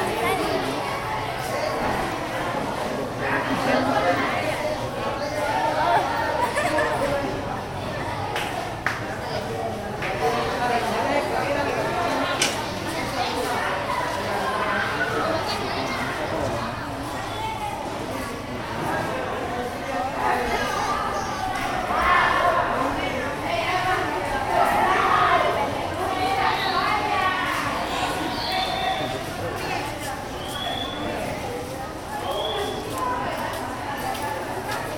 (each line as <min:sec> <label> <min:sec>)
0:00.0 Students 0:34.9